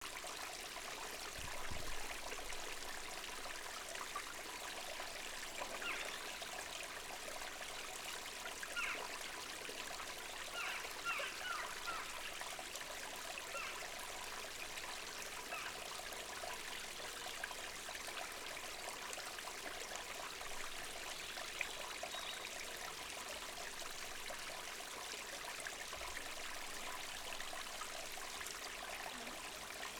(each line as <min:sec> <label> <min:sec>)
0:00.0 small waterfall and stream of water 0:29.9